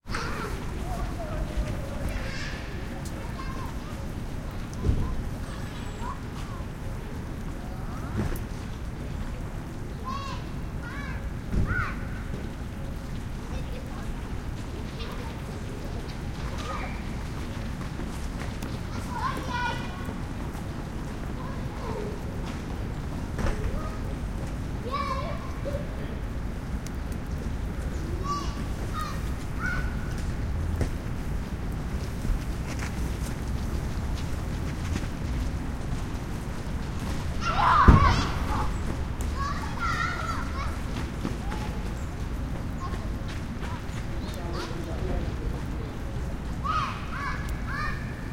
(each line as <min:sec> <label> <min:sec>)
0:00.0 light rain almost mist 0:48.3
0:00.0 traffic 0:48.3
0:00.1 drip of rain from a tree above 0:48.3
0:36.8 kids 0:44.8